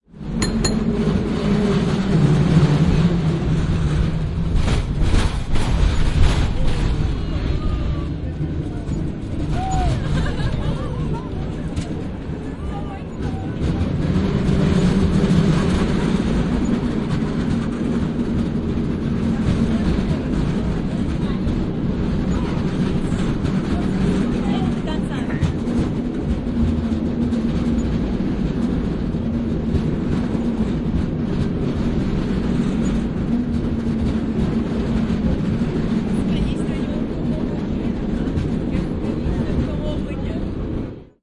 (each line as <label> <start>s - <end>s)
cable car bells ring 0.4s - 1.2s